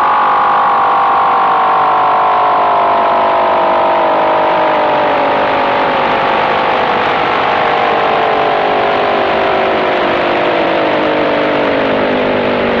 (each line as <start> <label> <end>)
0.0 Unidentified signal 12.8